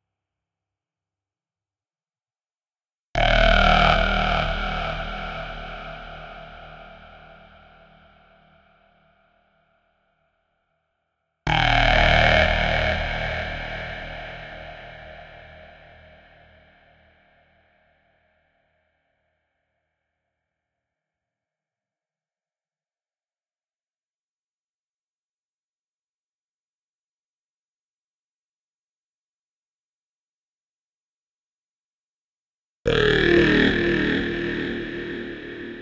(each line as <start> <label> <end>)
32.9 synth 35.8